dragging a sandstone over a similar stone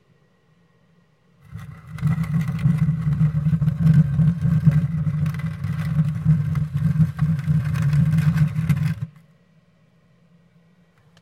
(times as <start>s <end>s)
1.4s 9.2s